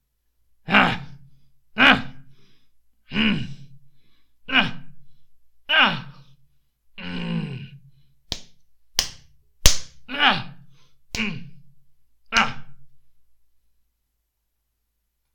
11.2s pretending fight sounds 11.5s
12.3s pretending fight sounds 12.7s

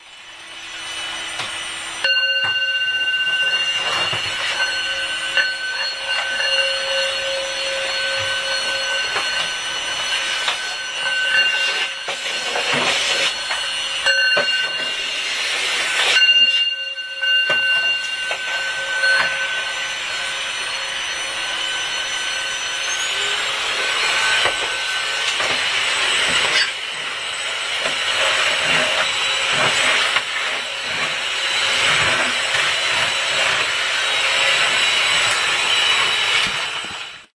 0.0s tibetan bowl 37.3s
19.2s mixer sounds 37.3s

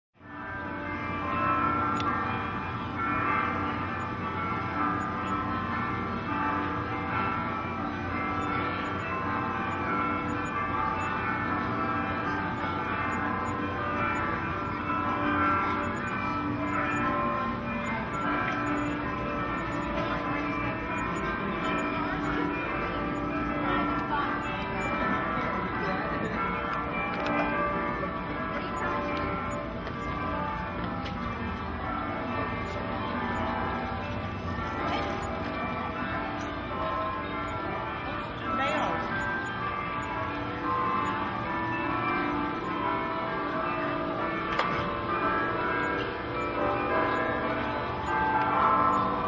0.2s Church bells 49.2s
0.2s street noise in the background 49.2s

